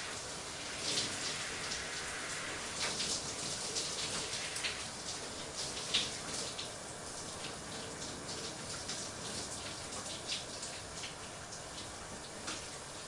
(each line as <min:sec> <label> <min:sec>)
0:00.0 taking a shower from start to finish 0:13.0